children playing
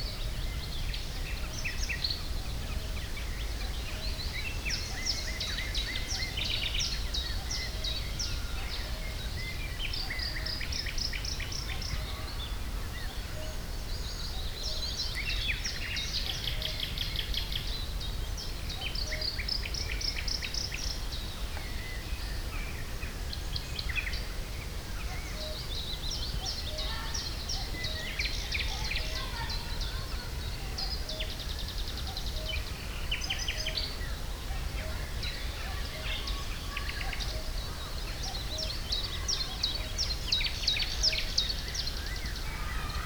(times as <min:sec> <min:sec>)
0:26.7 0:31.1, 0:34.6 0:40.2, 0:42.0 0:43.0